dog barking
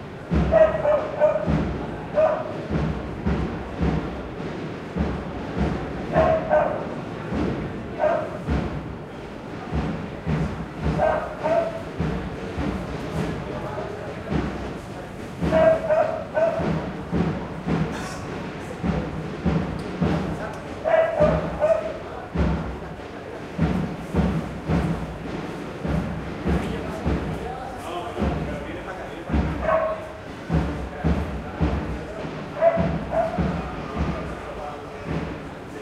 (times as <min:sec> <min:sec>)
0:00.5 0:01.5, 0:02.2 0:02.5, 0:06.1 0:06.8, 0:08.0 0:08.4, 0:11.0 0:11.8, 0:15.5 0:16.6, 0:20.9 0:22.0, 0:29.6 0:30.0, 0:32.6 0:33.4